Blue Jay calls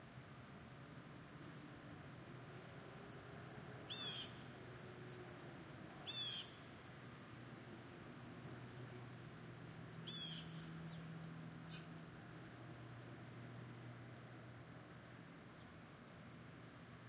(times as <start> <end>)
3.9 4.4, 6.0 6.6, 10.1 10.7